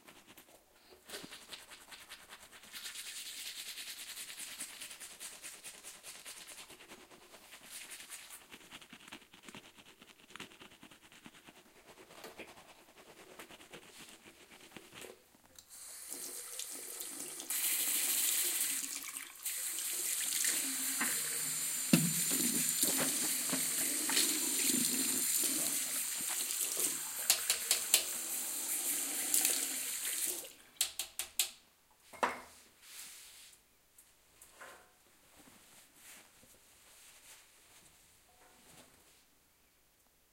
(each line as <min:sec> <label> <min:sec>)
0:00.0 brushing my teeth 0:15.2
0:20.0 brushing my teeth 0:28.4